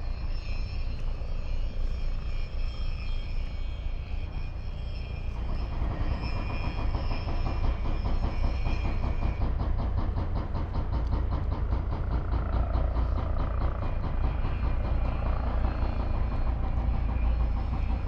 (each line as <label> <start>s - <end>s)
helicopter 0.0s - 18.0s
heavy deconstruction work 4.3s - 18.0s